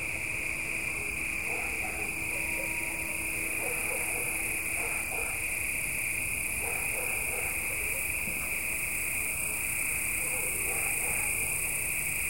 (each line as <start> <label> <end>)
0.0 crickets 12.2
1.4 far dog's barks 5.5
6.6 far dog's barks 8.3
10.2 far dog's barks 11.5